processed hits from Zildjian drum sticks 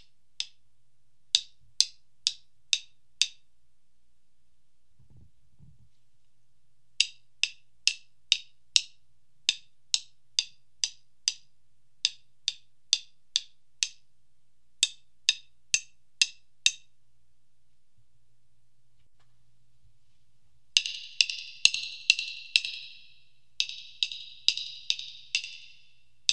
0.0s 0.6s, 1.3s 3.5s, 7.0s 14.1s, 14.8s 16.9s, 20.7s 26.3s

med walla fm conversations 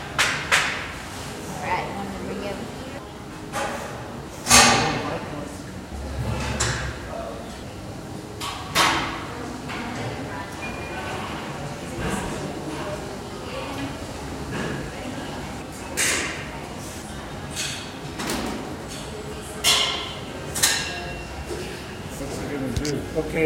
22.2s 23.4s

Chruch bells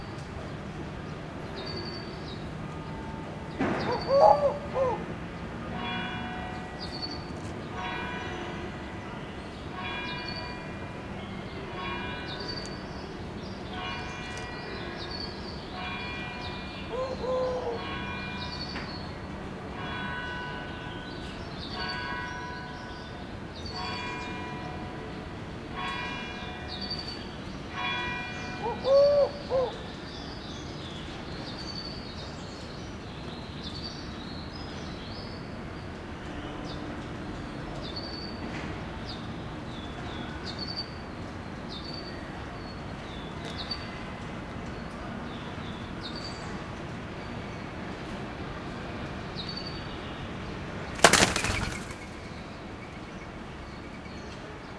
5.8s 29.6s

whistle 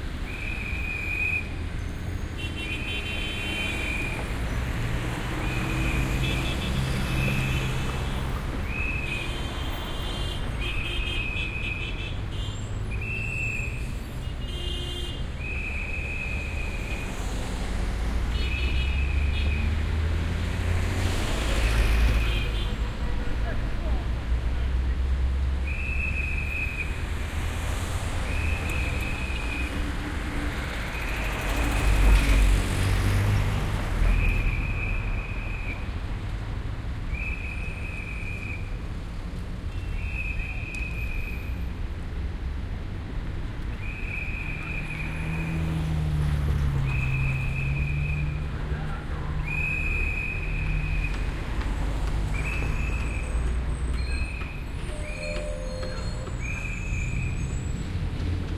0.3s 1.5s, 12.9s 13.9s, 15.4s 17.0s, 25.6s 27.0s, 34.0s 35.9s, 37.1s 38.8s, 39.7s 41.4s, 43.8s 45.6s, 46.8s 48.4s, 49.4s 51.3s, 52.3s 53.4s, 54.0s 57.8s

